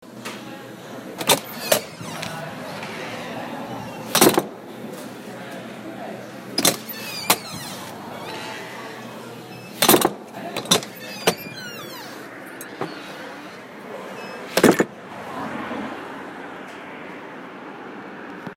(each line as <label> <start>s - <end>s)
heavy old door opening and closing 1.1s - 4.9s
latch 1.2s - 2.4s
latch 4.0s - 4.5s
heavy old door opening and closing 6.5s - 15.0s
latch 6.6s - 8.4s
latch 9.8s - 13.6s
latch 14.5s - 14.9s